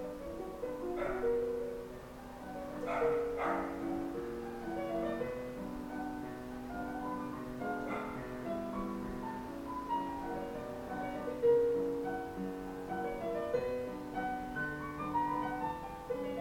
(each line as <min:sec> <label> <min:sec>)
0:00.0 street noise 0:05.2
0:00.0 playing chopin on the piano 0:16.4
0:00.5 dogs are barking from the outside 0:05.1
0:07.6 dogs are barking from the outside 0:09.5